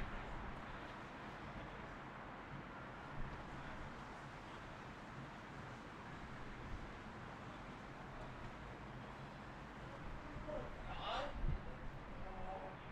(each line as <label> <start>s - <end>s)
quiet movement from a passerby 0.0s - 12.9s
wind 0.0s - 12.9s